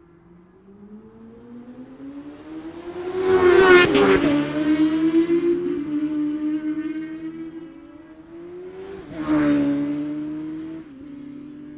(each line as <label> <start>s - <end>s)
sidecars and classic superbike pactices 0.0s - 11.7s